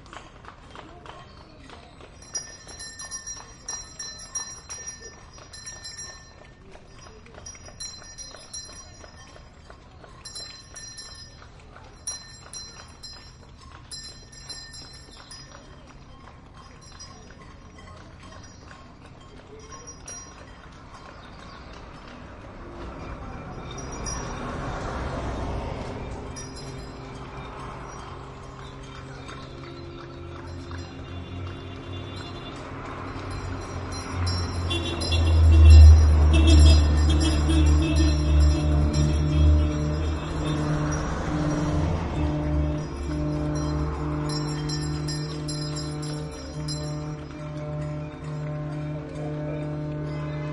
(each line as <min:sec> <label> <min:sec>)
0:00.0 People clapping 0:50.5
0:00.0 ringing bells 0:50.5
0:00.0 traffic 0:50.5
0:21.8 car horns 0:50.5
0:22.6 ships foghorn 0:50.5